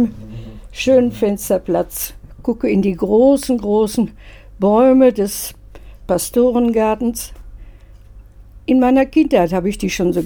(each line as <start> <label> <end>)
0.0 traditional call for the prayer 1.5
0.0 she tells us 7.4
8.7 she tells us 10.2